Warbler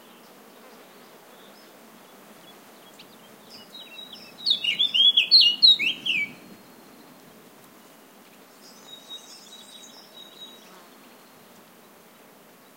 0.0 7.2, 8.6 11.4

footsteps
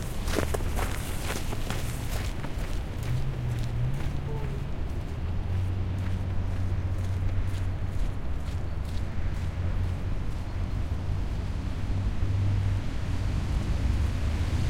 0.0 9.0

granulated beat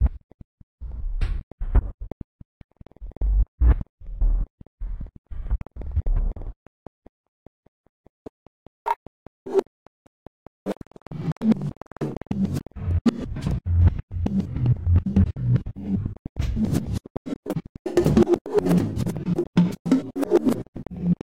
10.8 16.3

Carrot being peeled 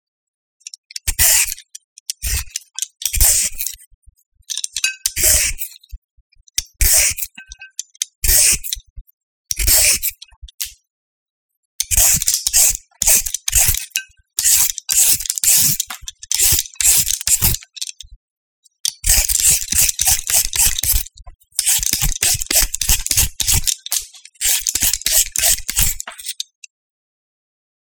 11.8 17.6, 19.0 26.4

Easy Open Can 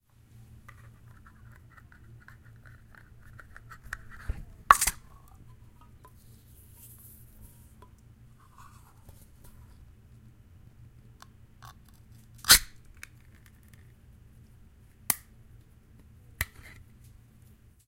4.7 5.1, 12.4 13.5

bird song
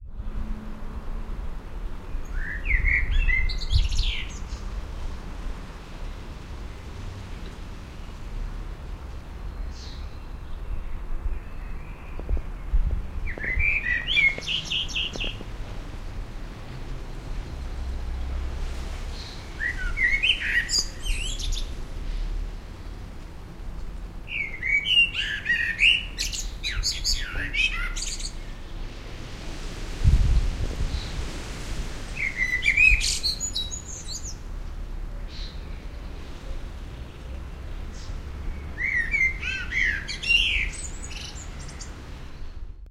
2.0 4.7, 9.4 15.5, 19.1 21.8, 24.3 28.8, 32.2 34.4, 35.1 42.8

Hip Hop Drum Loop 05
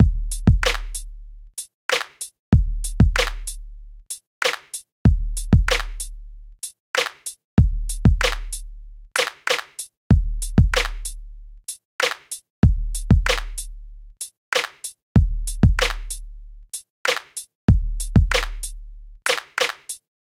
0.0 1.1, 1.9 3.6, 4.4 6.2, 7.0 8.6, 9.2 11.2, 12.0 13.7, 15.2 16.3, 17.7 18.8

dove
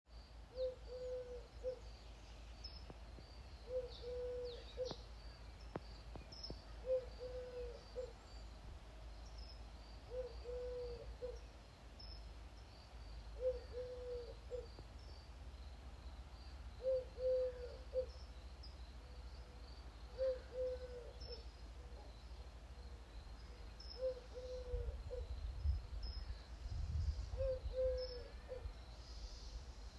0.5 1.9, 2.6 5.1, 5.7 8.4, 10.0 12.2, 13.4 14.9, 16.8 29.9

